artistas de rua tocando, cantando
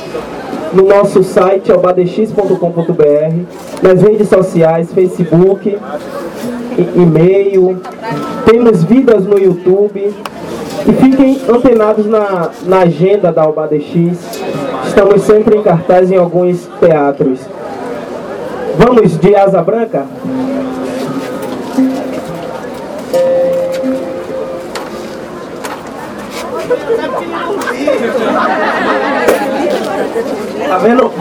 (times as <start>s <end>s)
20.0s 31.2s